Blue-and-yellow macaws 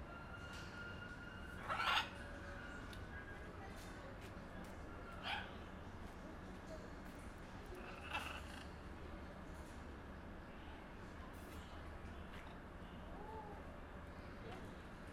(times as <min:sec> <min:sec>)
0:01.6 0:02.8, 0:05.1 0:05.6, 0:07.7 0:08.8